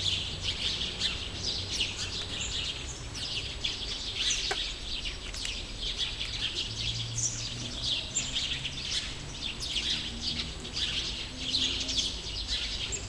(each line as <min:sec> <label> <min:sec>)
0:00.0 Singing sparrows 0:13.0